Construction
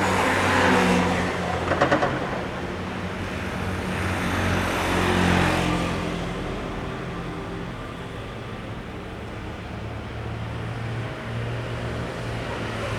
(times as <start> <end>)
0.0 6.2